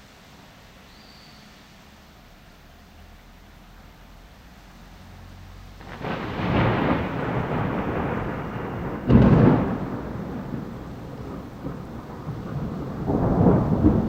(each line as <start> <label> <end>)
0.0 rain 14.0
5.8 thunder 14.0